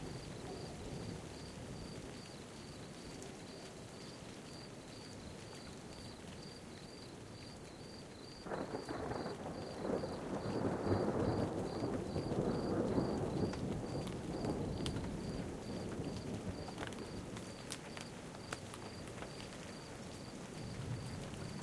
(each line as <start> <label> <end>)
0.0 hail 21.6
0.0 rain 21.6
8.4 thunder 17.4